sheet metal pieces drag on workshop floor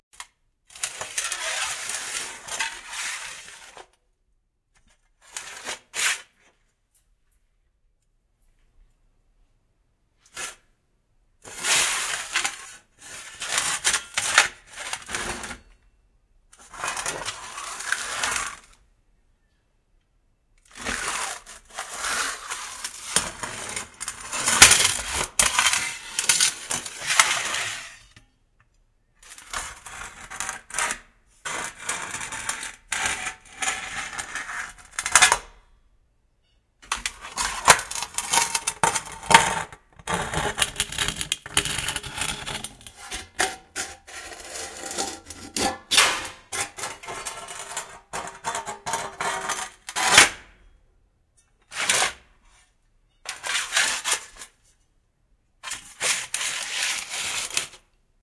21.8s 28.2s, 41.6s 49.7s

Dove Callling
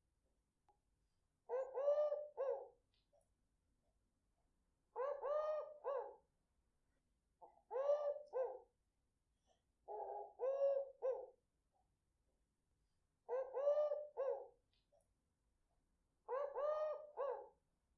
1.5s 2.6s, 5.0s 6.1s, 7.7s 8.5s, 13.3s 14.4s, 16.3s 17.4s

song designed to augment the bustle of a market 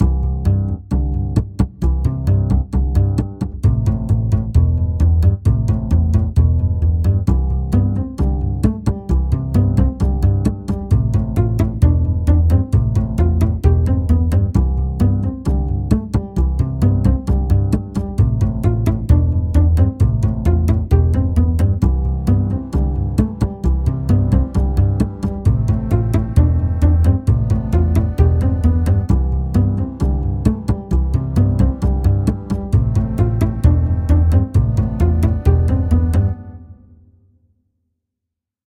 16.9s 37.0s

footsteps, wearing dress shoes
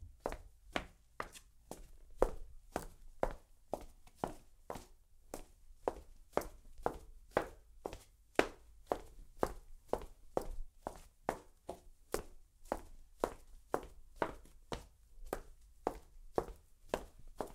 0.2s 4.9s

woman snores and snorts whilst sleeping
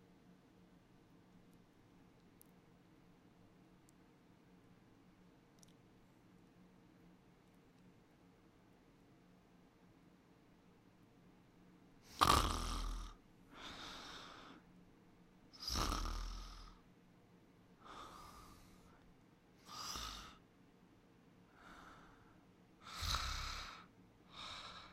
12.0s 14.5s, 15.6s 16.8s, 17.8s 18.8s, 19.6s 20.4s, 22.8s 24.9s

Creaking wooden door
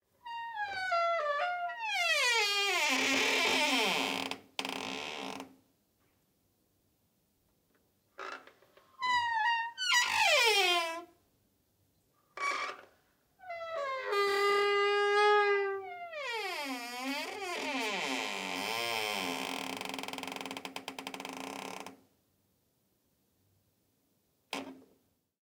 0.3s 5.5s, 8.2s 11.1s, 12.4s 22.0s

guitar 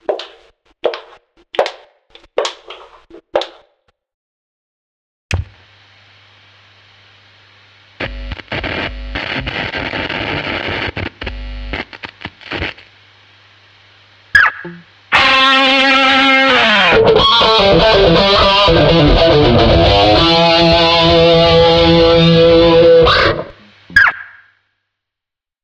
8.0s 12.8s, 14.3s 24.4s

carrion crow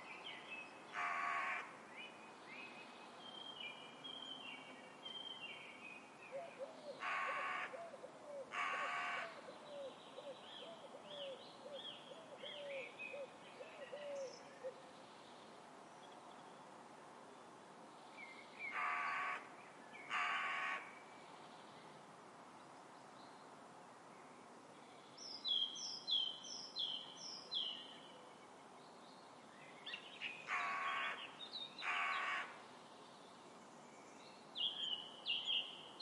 0.9s 1.7s, 7.0s 7.9s, 8.5s 9.4s, 18.7s 19.5s, 20.1s 20.9s, 30.5s 32.6s

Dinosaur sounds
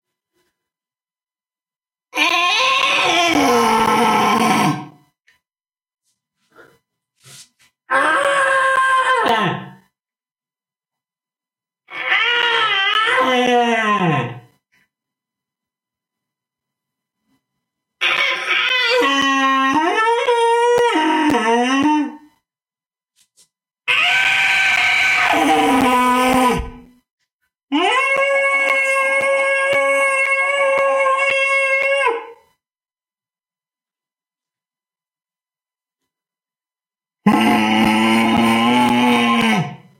2.1s 5.0s, 7.9s 9.9s, 11.9s 14.6s, 18.0s 22.3s, 23.9s 26.9s, 27.7s 32.4s, 37.2s 39.9s

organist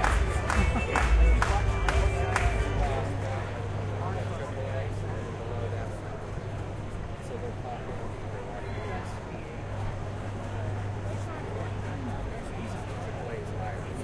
0.0s 3.4s

